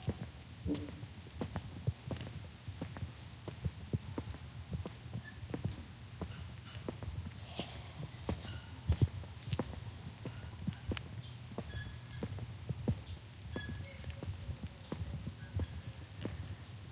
walking 0:00.0 - 0:16.9

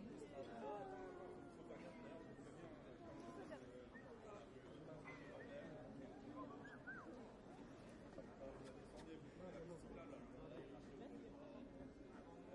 people 0:00.0 - 0:12.5

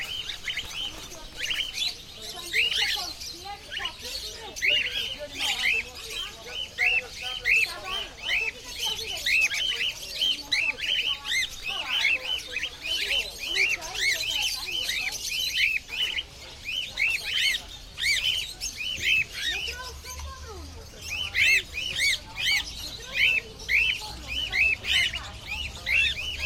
high pitched birds in foreground 0:00.0 - 0:26.4
human voices in the background 0:00.0 - 0:26.4
other birds 0:00.0 - 0:26.4

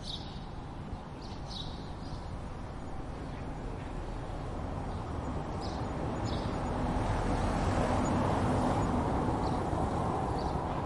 birds 0:00.0 - 0:07.0
traffic 0:00.0 - 0:10.8
birds 0:07.8 - 0:10.8

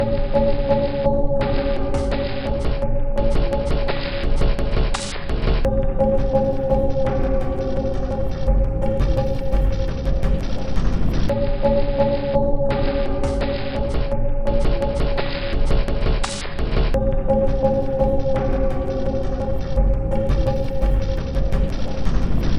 Drum Loop 0:03.3 - 0:11.3
Drum Loop 0:15.6 - 0:22.5

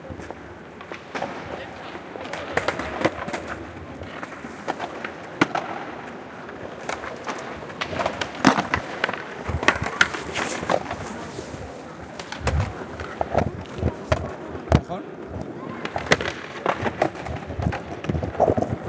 skateboard rolls past 0:00.1 - 0:18.8

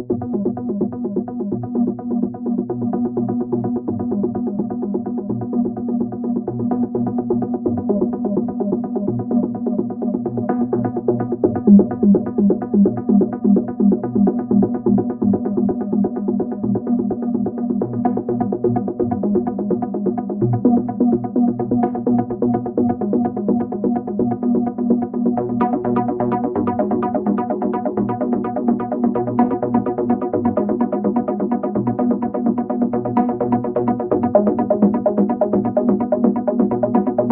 synth 0:07.6 - 0:37.3

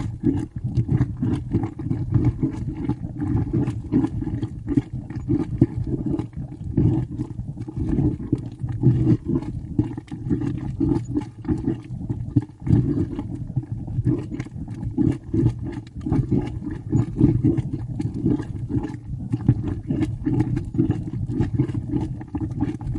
geothermal mud boiling, bubbling 0:00.0 - 0:22.9

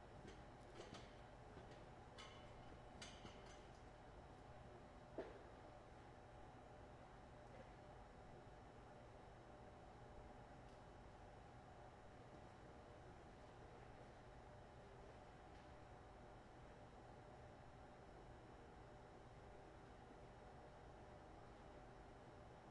activation of two exhaust fans 0:00.0 - 0:04.3

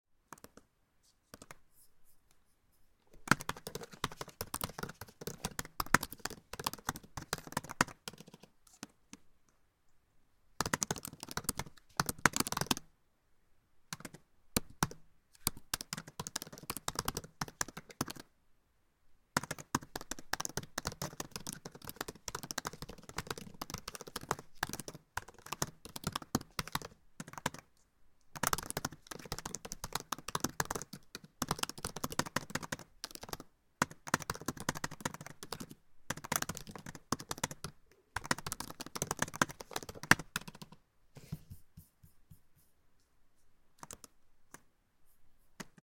Using Trackpad on MacBook Pro 0:00.2 - 0:13.0
Typing 0:03.2 - 0:09.0
Typing 0:10.6 - 0:12.9
Using Trackpad on MacBook Pro 0:13.9 - 0:18.4
Typing 0:13.9 - 0:18.3
Using Trackpad on MacBook Pro 0:19.3 - 0:45.8
Typing 0:19.4 - 0:27.7
Typing 0:28.3 - 0:40.8
Typing 0:43.8 - 0:44.6

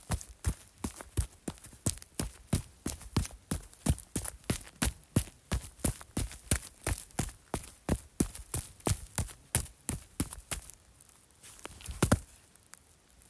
Running on concrete with jump and landing 0:00.0 - 0:10.7
Running on concrete with jump and landing 0:11.9 - 0:12.2

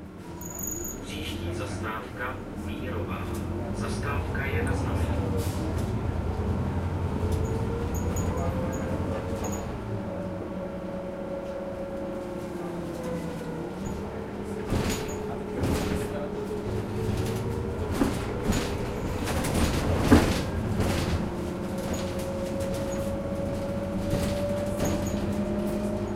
bus stops announcing 0:00.0 - 0:26.1
engine 0:00.0 - 0:26.1
super-hard shaking internal fittings of the bus 0:14.5 - 0:26.1
door opening-closing 0:17.0 - 0:26.0

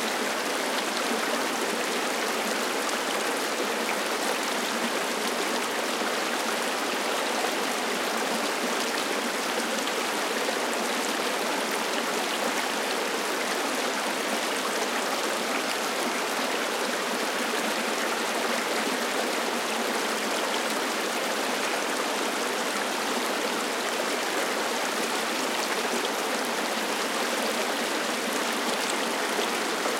Creek 0:00.0 - 0:29.9

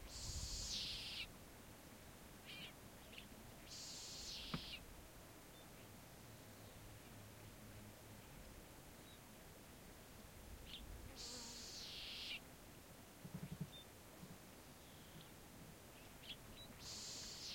birds 0:00.0 - 0:01.3
insects 0:00.0 - 0:01.3
birds 0:02.4 - 0:04.8
insects 0:03.7 - 0:04.8
birds 0:10.6 - 0:12.4
insects 0:11.2 - 0:12.4
birds 0:13.2 - 0:17.5
insects 0:16.8 - 0:17.5

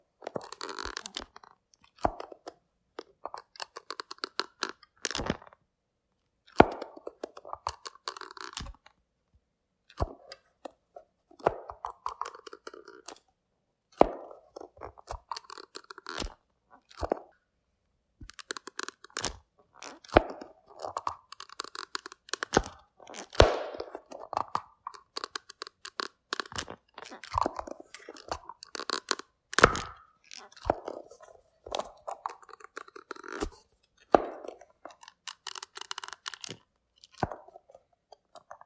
opened and closed a creaky eyeglass case 0:00.2 - 0:05.6
opened and closed a creaky eyeglass case 0:06.5 - 0:09.0
opened and closed a creaky eyeglass case 0:11.4 - 0:13.3
opened and closed a creaky eyeglass case 0:14.2 - 0:17.4
opened and closed a creaky eyeglass case 0:18.2 - 0:38.6

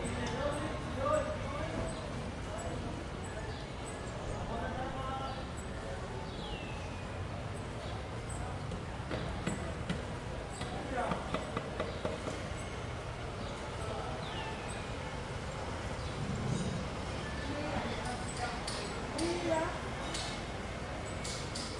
Street Noise 0:00.0 - 0:21.7

